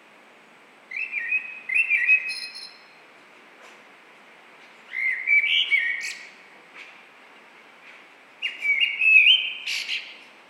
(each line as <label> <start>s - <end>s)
Blackbird 0.9s - 2.9s
Blackbird 4.9s - 6.3s
Blackbird 8.4s - 10.2s